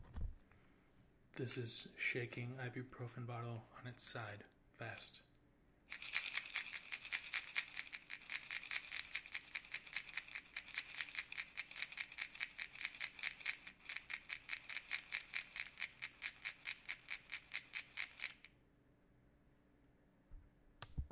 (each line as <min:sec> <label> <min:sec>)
0:05.9 Shaking ibuprofen bottle on side fast 0:18.5